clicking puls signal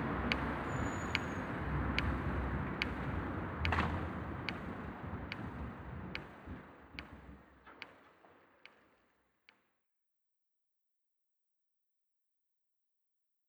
0:00.0 0:08.0

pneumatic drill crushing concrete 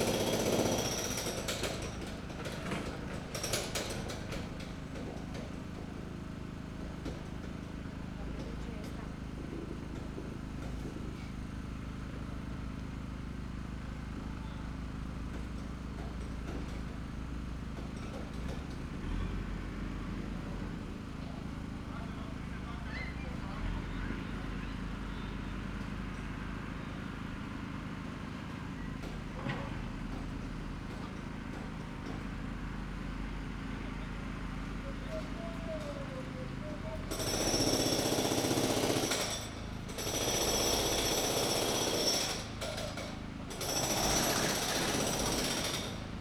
0:00.0 0:12.0, 0:35.1 0:46.2

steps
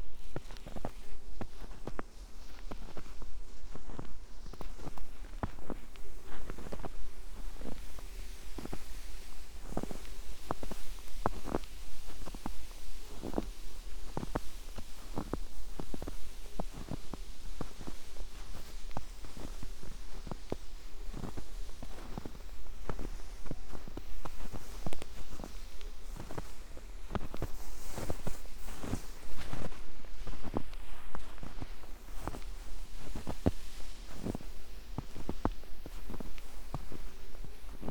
0:14.1 0:37.9

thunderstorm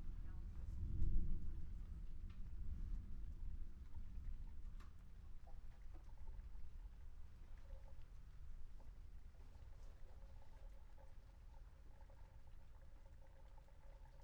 0:00.3 0:03.8

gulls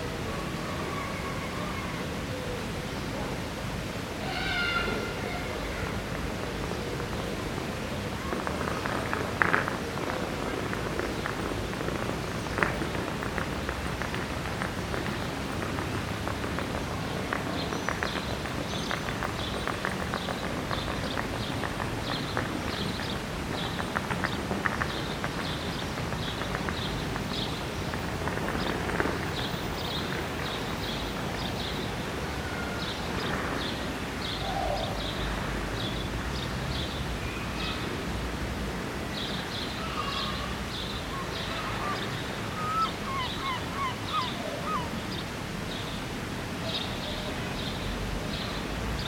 0:41.2 0:45.0

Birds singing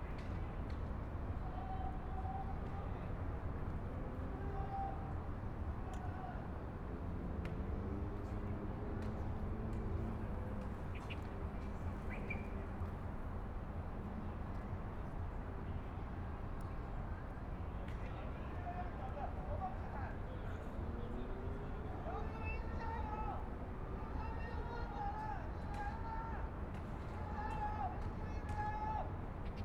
0:10.8 0:12.8

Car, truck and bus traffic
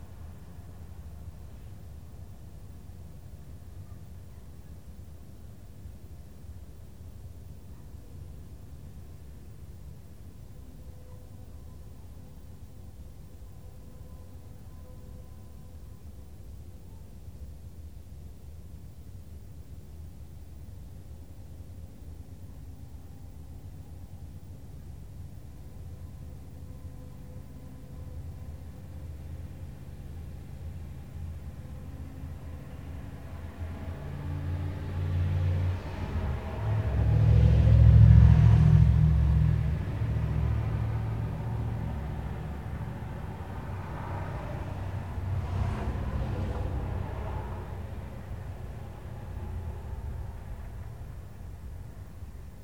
0:26.6 0:52.3

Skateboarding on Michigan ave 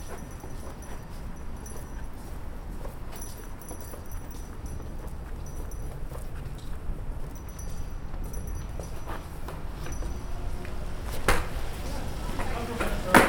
0:10.6 0:13.2

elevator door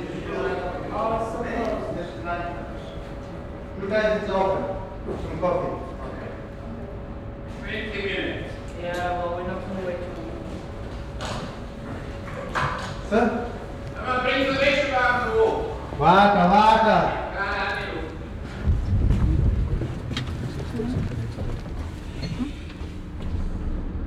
0:17.5 0:24.0

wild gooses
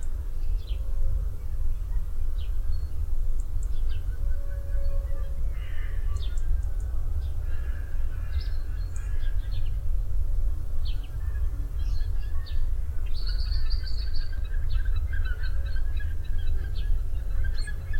0:07.4 0:09.4

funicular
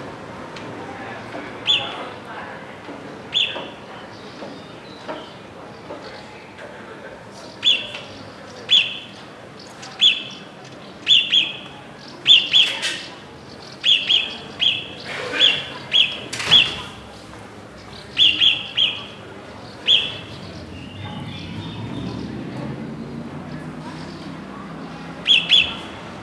0:15.0 0:26.2

